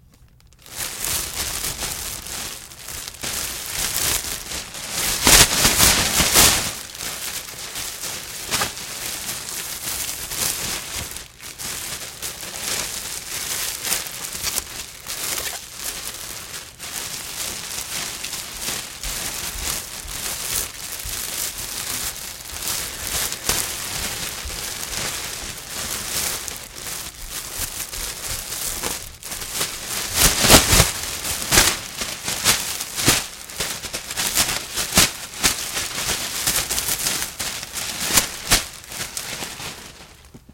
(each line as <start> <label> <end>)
0.6 empty trash bag rustling 40.5